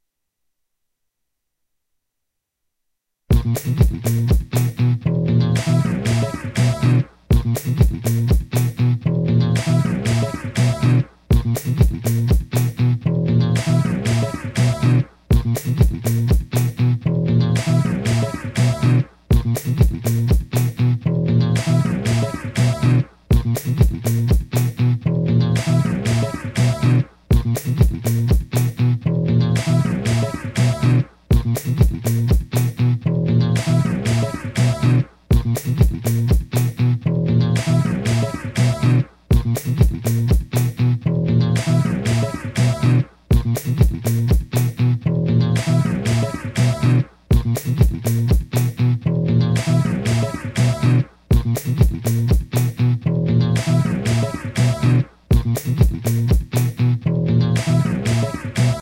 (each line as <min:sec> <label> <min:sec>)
0:03.3 bass 0:58.8